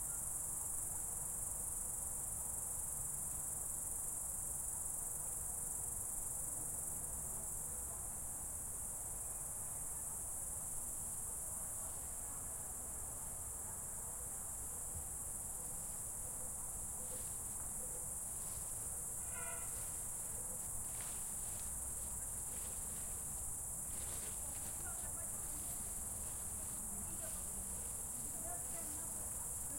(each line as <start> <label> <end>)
0.0 crickets 29.7